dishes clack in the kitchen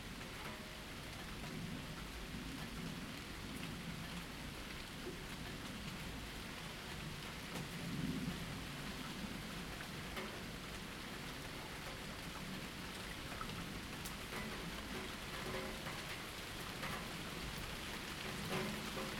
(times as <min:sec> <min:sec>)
0:18.2 0:19.1